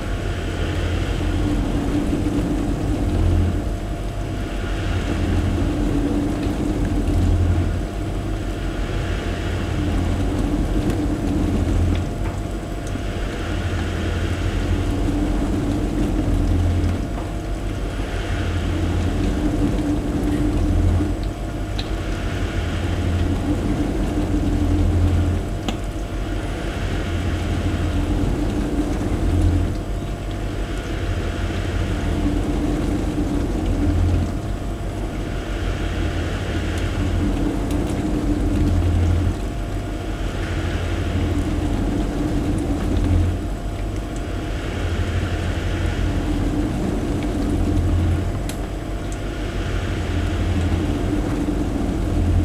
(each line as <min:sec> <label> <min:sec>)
0:00.0 dishwasher doing its cycles 0:52.4